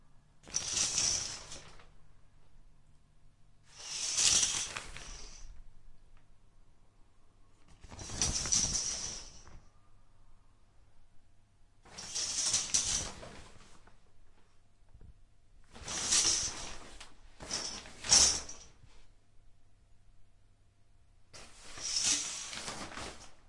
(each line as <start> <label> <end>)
0.4 plastic shower curtain being pulled and swished around 2.0
3.6 plastic shower curtain being pulled and swished around 5.6
7.7 plastic shower curtain being pulled and swished around 9.6
11.8 plastic shower curtain being pulled and swished around 14.5
15.7 plastic shower curtain being pulled and swished around 19.1
21.4 plastic shower curtain being pulled and swished around 23.4